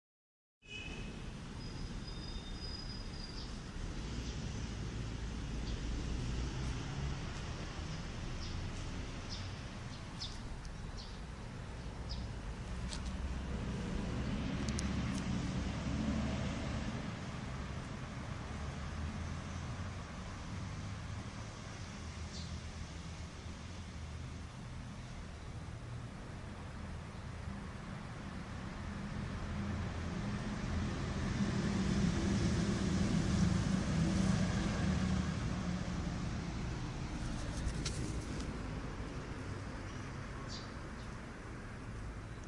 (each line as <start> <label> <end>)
39.8 bird 41.2